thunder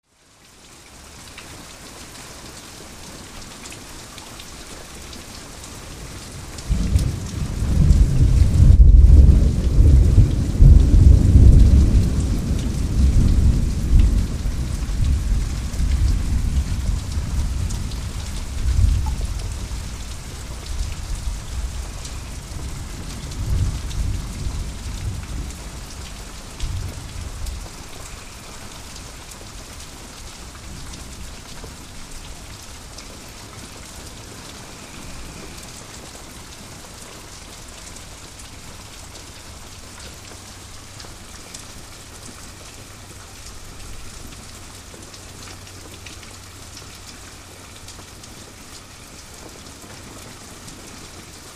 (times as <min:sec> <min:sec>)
0:06.7 0:19.3